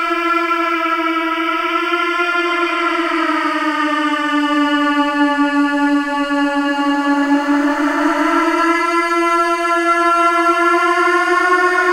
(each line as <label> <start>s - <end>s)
Strange Pleading Chant 2.6s - 11.9s